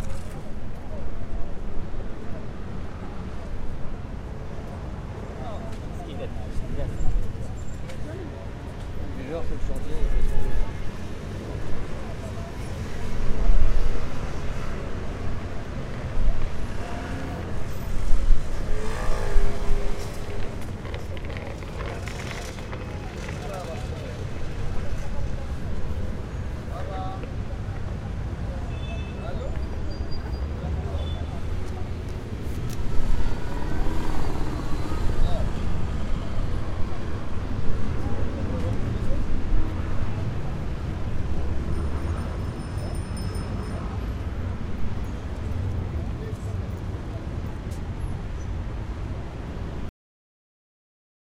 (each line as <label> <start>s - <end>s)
passers-by 0.0s - 28.6s
cars 0.0s - 49.9s
scooters 16.4s - 26.0s
passers-by 29.2s - 49.8s